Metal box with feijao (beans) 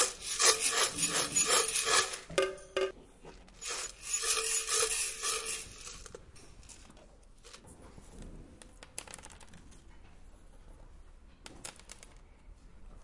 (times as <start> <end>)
0.0 7.7